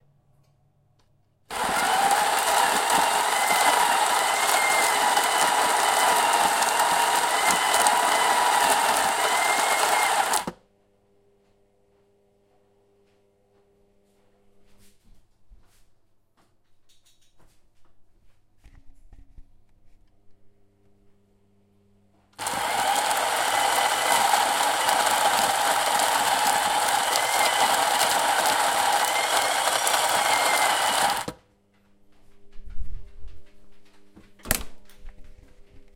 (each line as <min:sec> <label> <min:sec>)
0:01.5 Coffee Bean Grinder 0:10.6
0:22.4 Coffee Bean Grinder 0:31.4